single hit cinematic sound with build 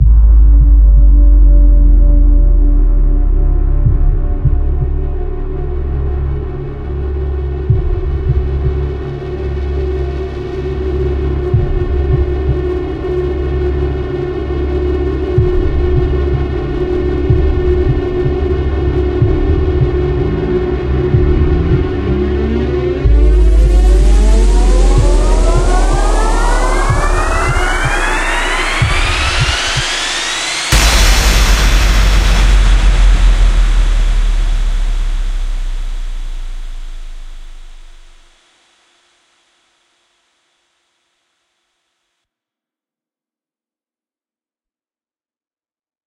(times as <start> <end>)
23.0 38.3